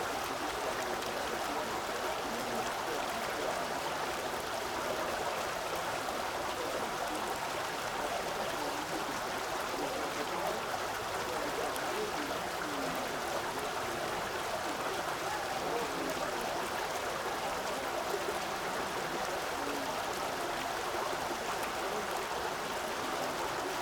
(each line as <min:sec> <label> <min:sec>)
0:00.0 fountain 0:23.8